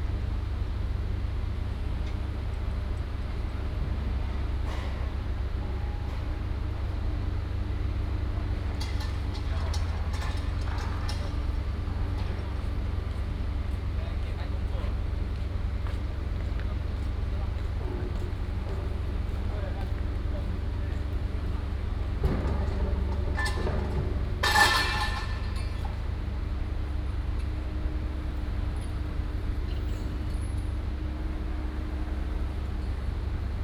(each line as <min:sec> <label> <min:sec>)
0:02.1 Construction sound 0:33.6